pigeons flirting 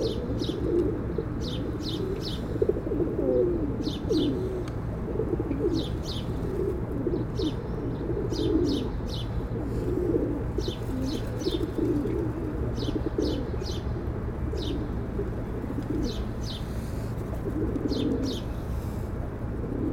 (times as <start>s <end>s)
9.7s 13.5s, 15.0s 19.9s